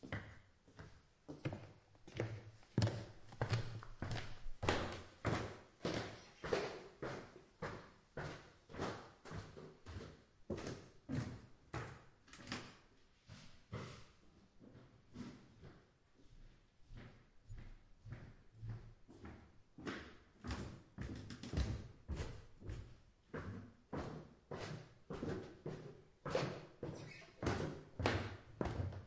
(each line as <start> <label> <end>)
0.0 Walking up-and-downstairs a wooden stair in my indoorshoes 29.0